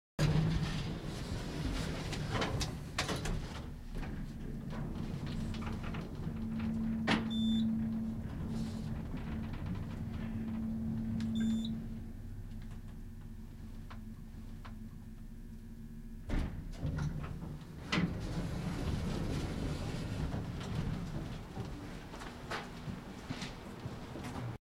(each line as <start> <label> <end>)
0.2 elevator ride 24.6